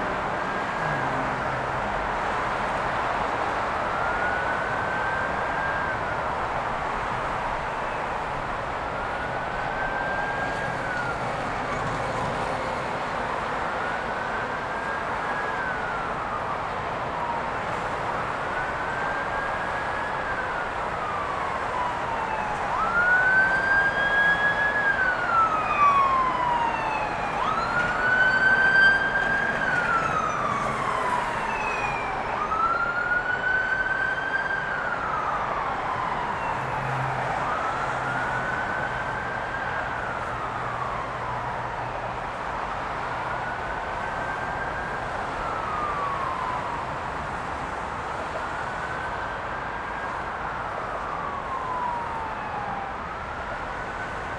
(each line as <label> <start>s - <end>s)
oceanic roar of the late Friday afternoon traffic 0.0s - 54.3s